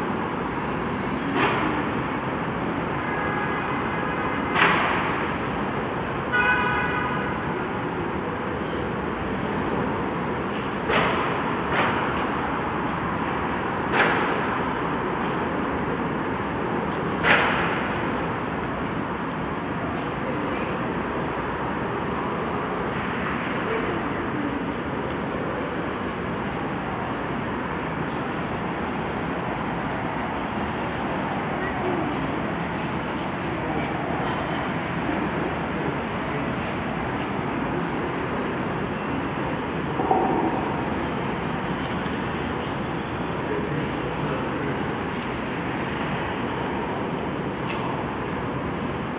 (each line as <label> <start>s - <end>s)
urban construction 0.0s - 49.1s
misty ambient voices by the pedestrian 7.4s - 17.3s
misty ambient voices by the pedestrian 17.9s - 49.1s